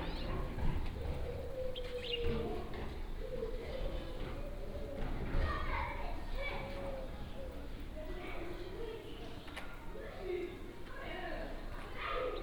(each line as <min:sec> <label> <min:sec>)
0:01.9 kids playing in echoing street 0:12.4